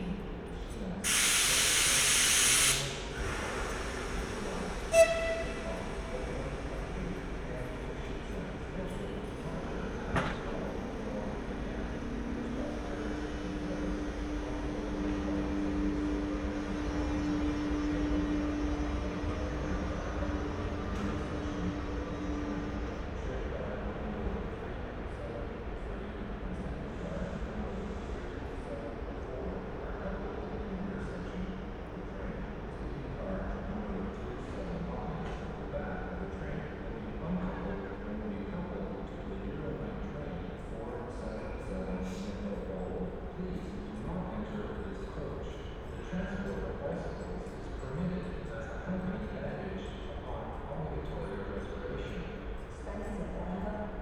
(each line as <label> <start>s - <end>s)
a train arrives and is then shut off for the night 1.0s - 30.2s